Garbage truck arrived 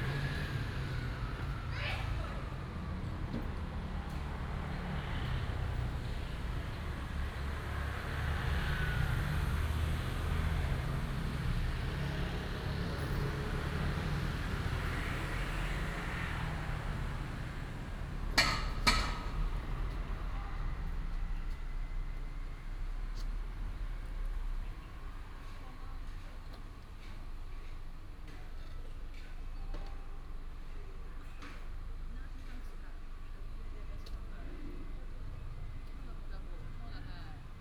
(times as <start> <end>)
9.6 32.1